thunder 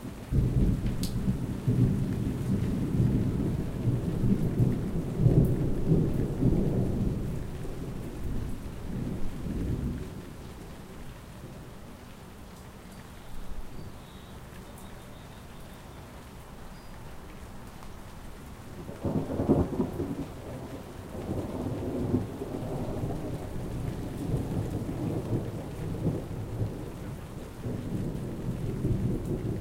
0.3 10.3, 18.8 29.6

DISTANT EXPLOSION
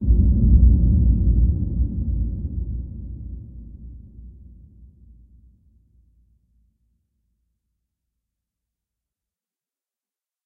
0.0 5.2

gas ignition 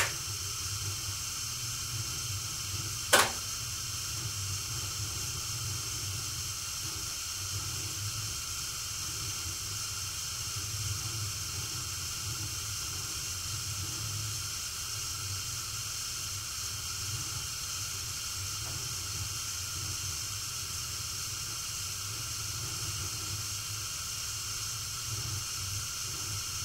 0.0 1.4, 3.0 3.8

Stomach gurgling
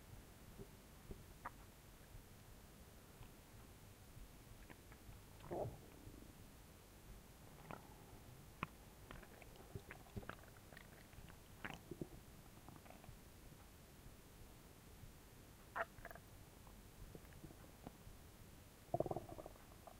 4.6 6.2, 7.5 8.0, 8.6 13.2, 15.8 16.3, 18.9 19.9

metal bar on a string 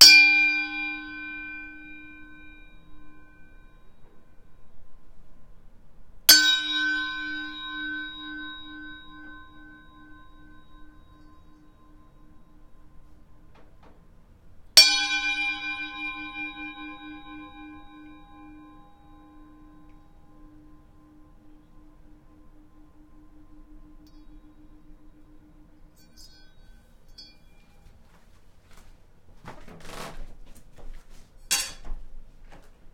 14.8 28.0, 31.4 32.0

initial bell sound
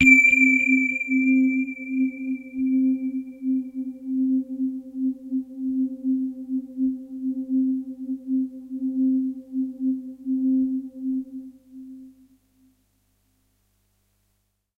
0.0 3.1

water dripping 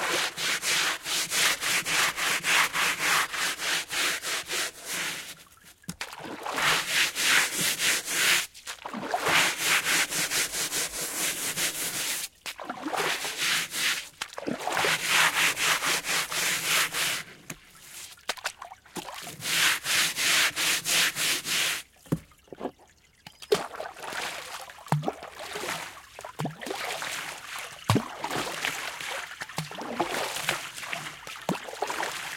22.0 25.3

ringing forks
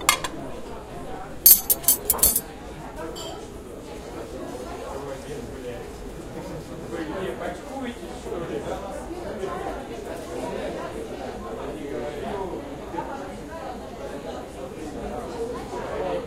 1.5 2.4

